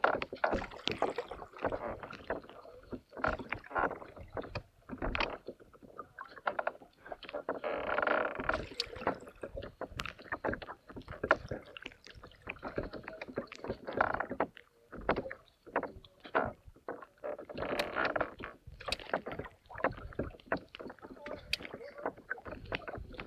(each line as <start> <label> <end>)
0.0 Canoeing 23.2